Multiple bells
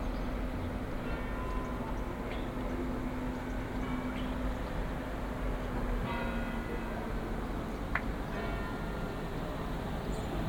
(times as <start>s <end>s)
0.9s 7.4s, 8.3s 9.2s